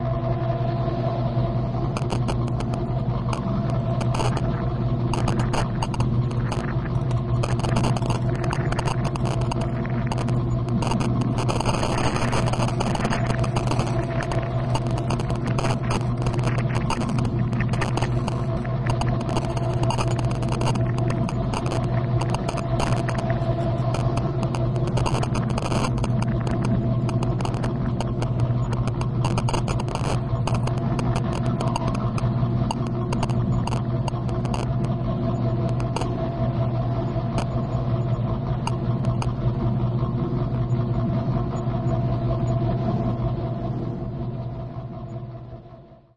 Drone 0.0 - 46.1
Static 0.0 - 46.1
Clicks 1.9 - 36.4
Clicks 37.0 - 39.4

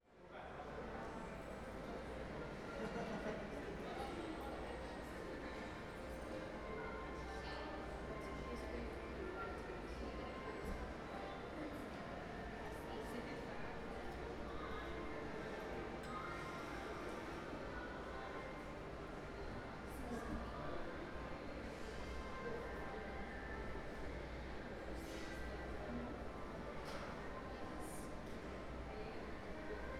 moderate crowd activity 0.0 - 29.9

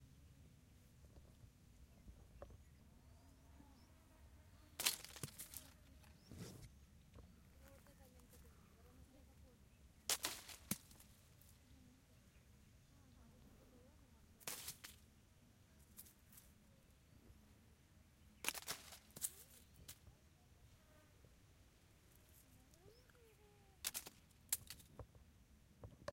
Stone hitting tree branches 4.8 - 5.8
Stone hitting tree branches 10.1 - 11.2
Stone hitting tree branches 14.4 - 15.0
Stone hitting tree branches 18.4 - 20.0
Stone hitting tree branches 23.8 - 24.9

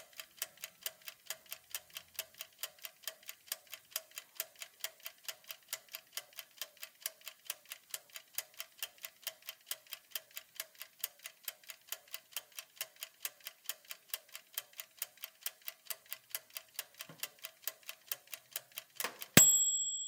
ticking timer 0.0 - 20.0
setting a toaster timer 18.2 - 20.0
end-cycle bell 19.4 - 20.0

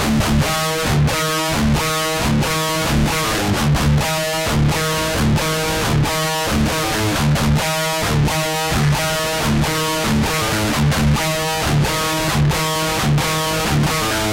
GUITAR LOOPS 0.0 - 14.3

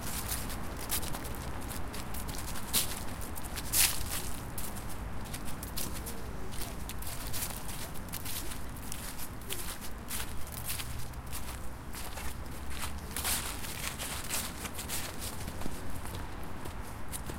steps in the autumn leaves 0.0 - 17.3

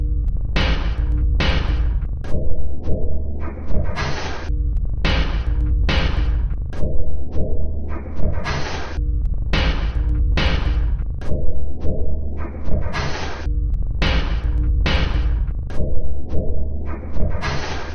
Drum Loop 0.6 - 2.1
Drum Loop 5.1 - 6.5
Drum Loop 9.6 - 11.1
Drum Loop 14.0 - 15.5

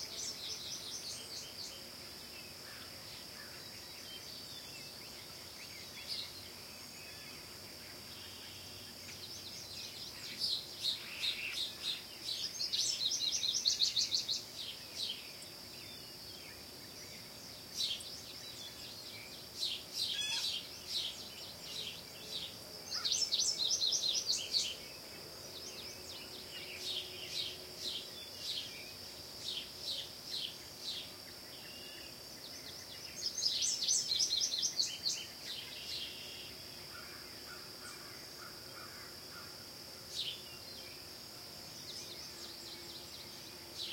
frogs 0.0 - 43.9
insects 0.0 - 43.9
wild birds 0.0 - 43.9

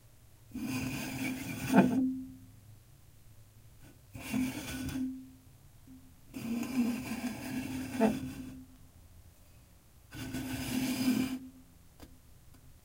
full soda can slid across table 0.6 - 2.0
full soda can slid across table 4.2 - 5.0
full soda can slid across table 6.3 - 8.6
full soda can slid across table 10.1 - 11.5

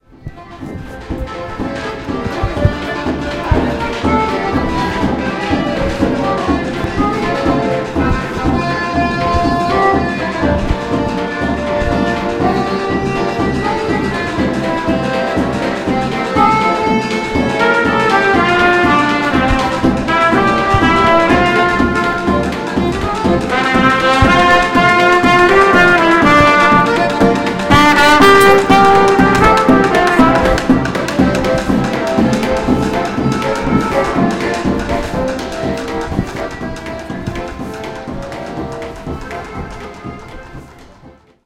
Accordian 0.0 - 41.4
trumpet 0.1 - 41.4
drum 0.2 - 41.4

